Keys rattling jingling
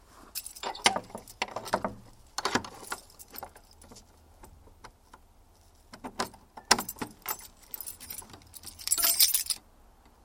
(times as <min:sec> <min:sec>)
0:00.4 0:01.4, 0:06.8 0:09.6